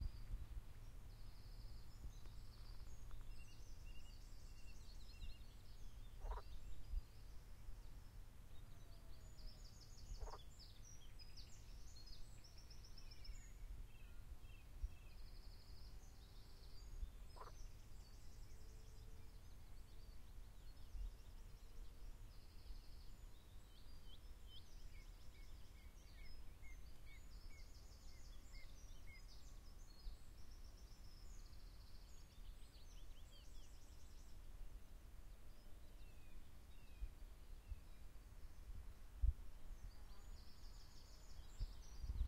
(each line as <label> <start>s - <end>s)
birds in the background 0.0s - 42.2s
frog croaking 6.2s - 6.4s